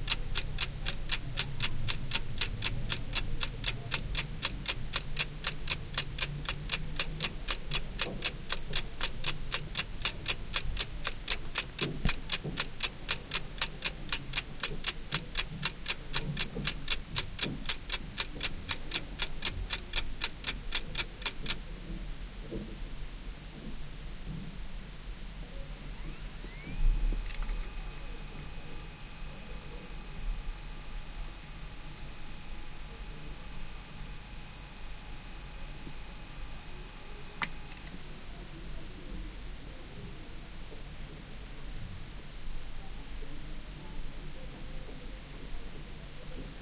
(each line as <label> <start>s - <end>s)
hard disk of the recorder, which can be heard spinning 0.0s - 21.6s
Clock tic-tocs 0.0s - 21.6s
hard disk of the recorder, which can be heard spinning 25.9s - 28.5s